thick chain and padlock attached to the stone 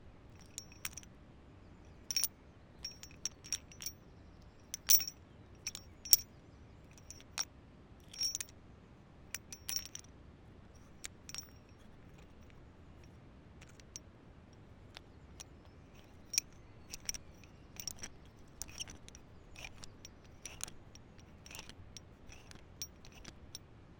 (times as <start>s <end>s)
0.3s 1.1s, 2.0s 4.0s, 4.6s 6.3s, 6.9s 8.5s, 9.4s 10.1s, 10.8s 14.0s, 14.6s 23.7s